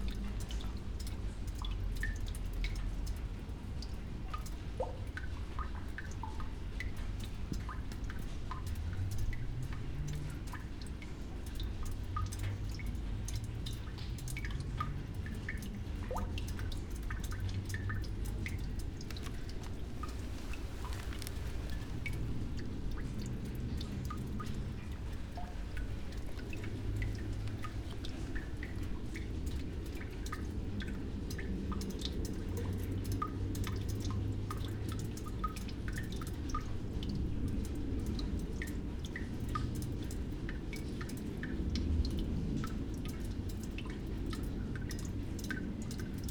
0.0s rain 46.3s
15.5s old iron drain 32.0s

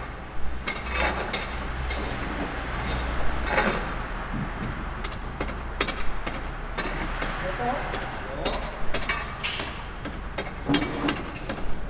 0.0s trams from afar 11.8s
0.6s workers breaking stiffed snow and ice 11.8s

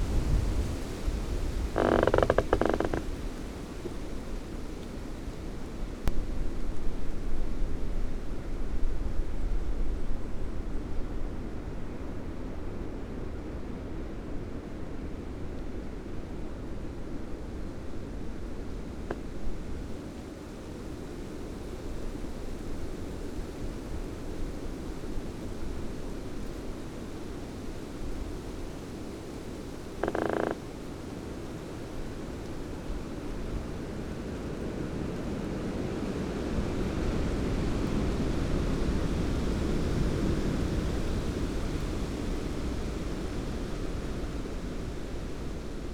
0.0s rain 45.9s
1.6s squeaking tree 3.2s
30.0s squeaking tree 30.6s

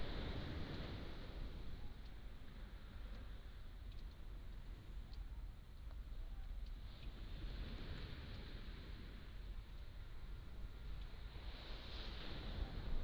10.3s waves 13.0s

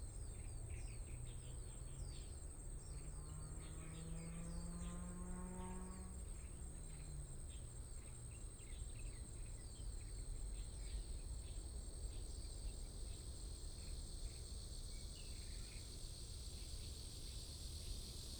0.1s Cicadas sound 18.3s

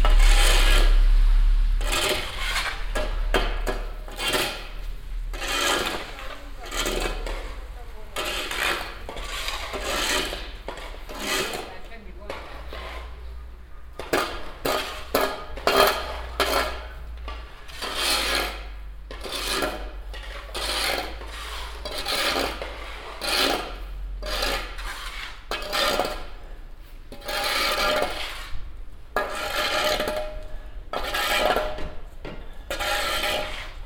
0.0s group of man cleaning the street from snow and ice 33.8s

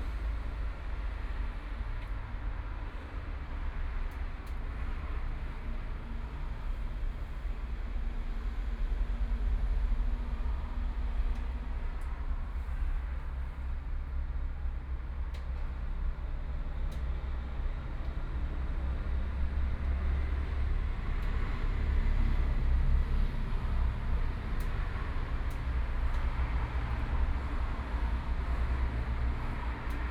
9.4s Traffic Sound 30.1s

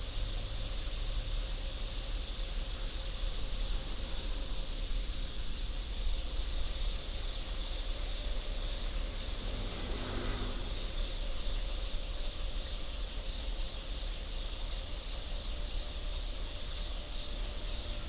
0.0s Insects 18.0s
0.3s Cicada sound 18.0s
2.6s train runs through 13.7s
6.3s Traffic sound 12.0s
14.4s train runs through 18.0s

